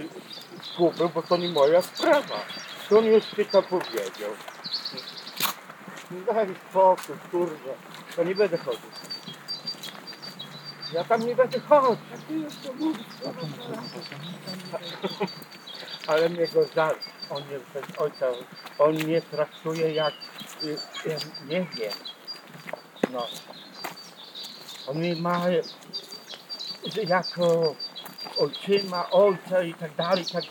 two persons talking 0.0 - 30.5

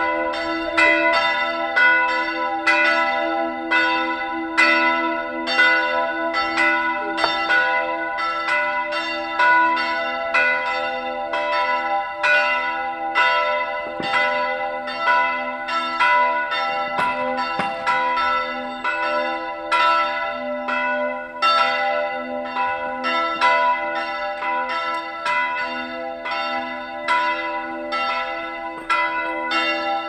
bells 0.0 - 30.0
church door 0.0 - 30.0

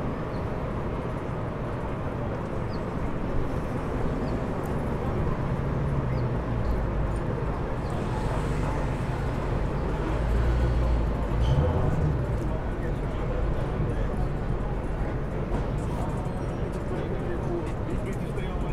roadies unloading equipment 4.3 - 18.3

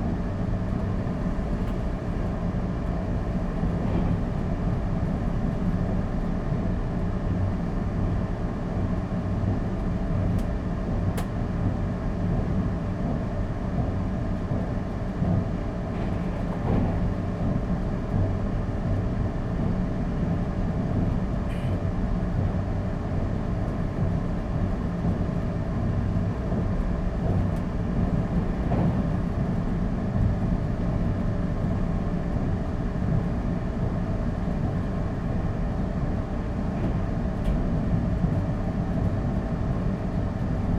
train carriage 0.0 - 40.7

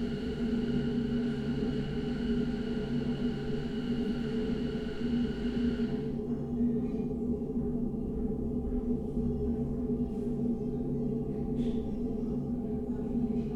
toilet ventilation 0.0 - 6.1

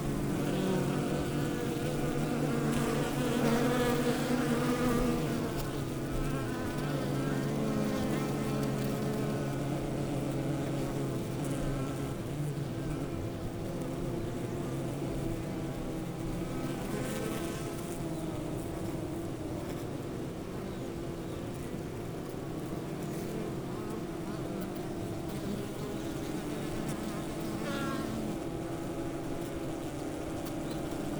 undisturbed bees 0.0 - 31.1

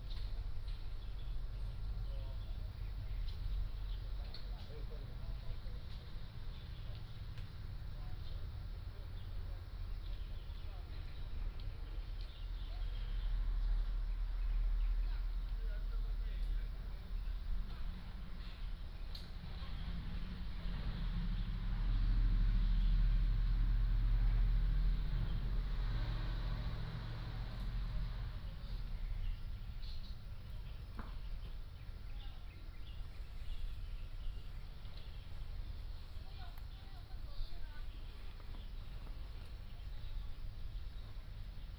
Birdsong 0.0 - 41.7
Traffic Sound 0.0 - 41.7

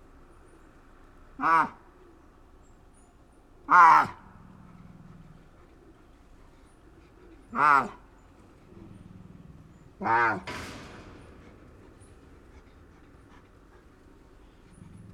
tigresa 3.6 - 15.1

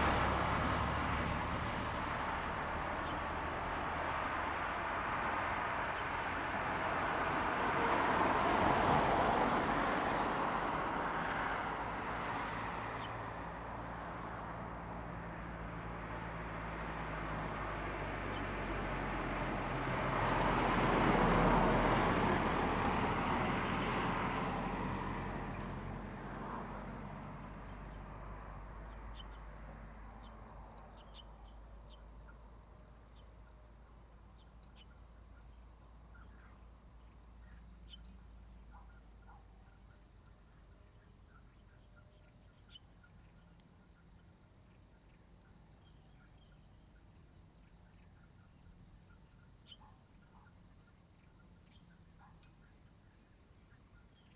Traffic Sound 0.0 - 40.9
Birds singing 45.1 - 52.8

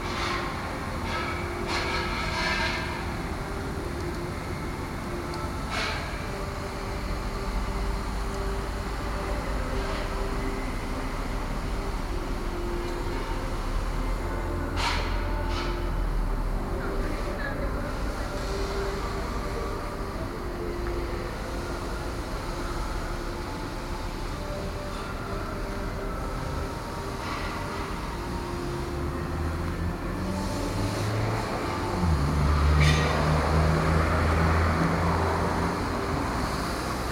Small factory ambiance 0.0 - 37.1

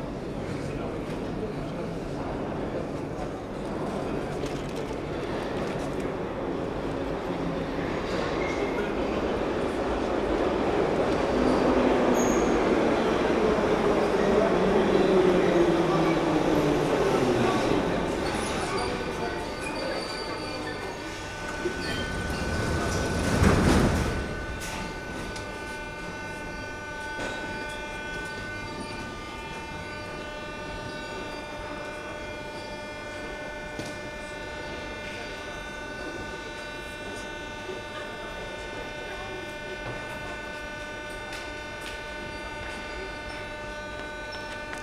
Subway 0.0 - 44.8

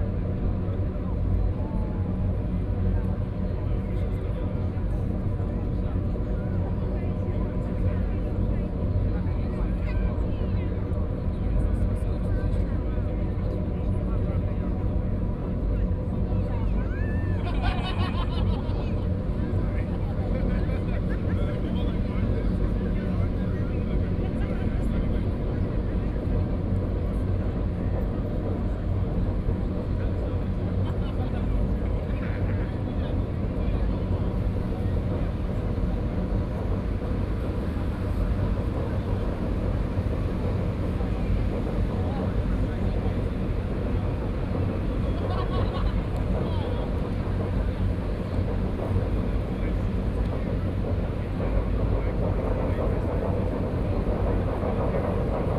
crowd 0.0 - 55.5
Laughter 17.2 - 19.2
Laughter 45.0 - 46.5

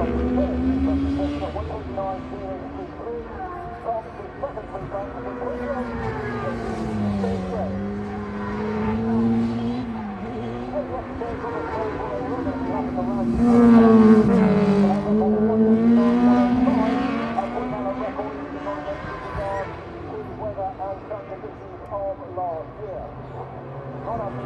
superbikes 0.0 - 21.1

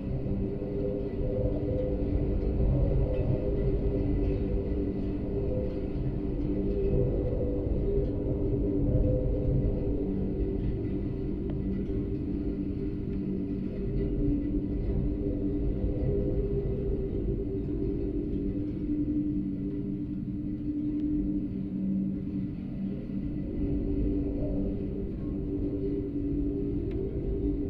wind 0.0 - 27.6

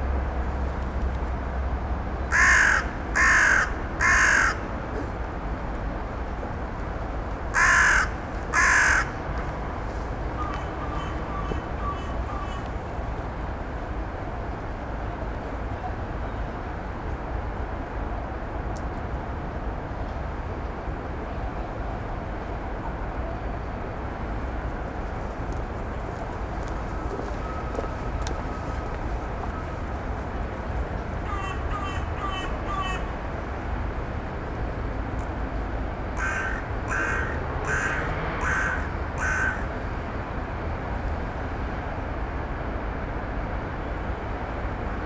drone of the city 0.0 - 45.0
Birds Crowing and Cawing 2.3 - 4.7
Birds Crowing and Cawing 7.5 - 9.2
Birds Crowing and Cawing 10.4 - 12.9
Birds Crowing and Cawing 31.2 - 33.2
Birds Crowing and Cawing 36.2 - 39.8

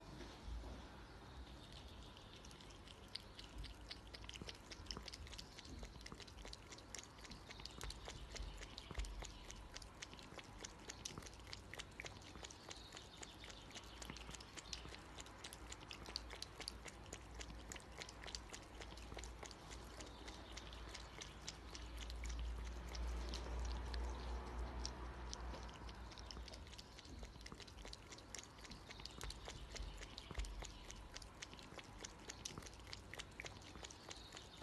Cat drinks watter 1.3 - 34.6

